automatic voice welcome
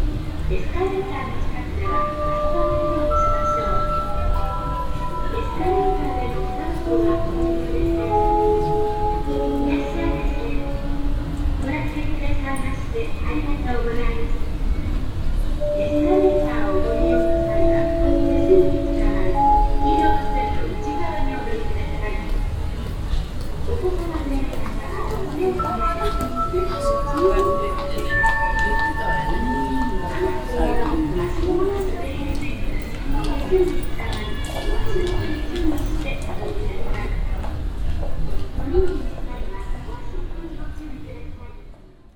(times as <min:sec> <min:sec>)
0:15.6 0:22.4